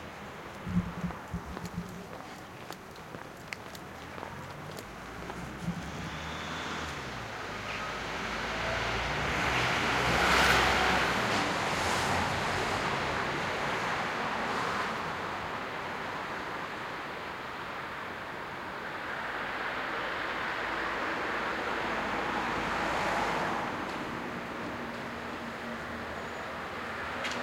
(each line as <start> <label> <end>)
0.0 traffic 27.4